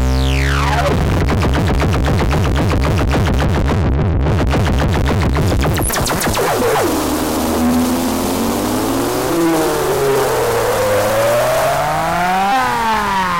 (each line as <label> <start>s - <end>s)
modular analogue synth 0.0s - 2.0s
modular analogue synth 5.4s - 13.3s